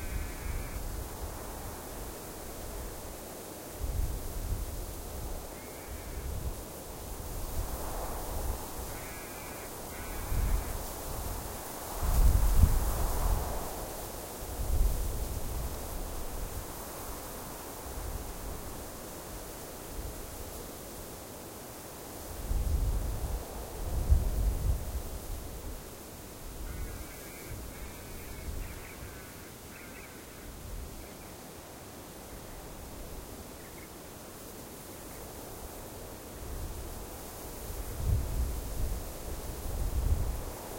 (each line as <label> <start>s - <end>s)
crow 0.0s - 0.8s
Desert wind whispering through the spinifex 0.0s - 40.7s
crow 5.6s - 6.4s
crow 8.8s - 10.8s
crow 26.7s - 31.3s